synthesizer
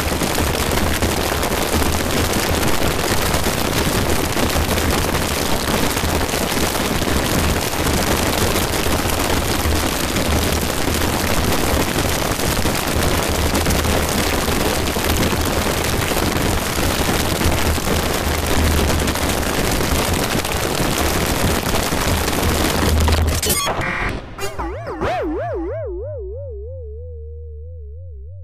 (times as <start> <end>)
23.4 28.4